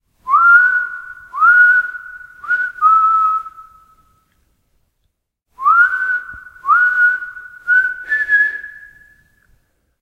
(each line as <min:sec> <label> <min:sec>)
0:00.3 whistle sequence 0:04.2
0:05.6 whistle sequence 0:09.5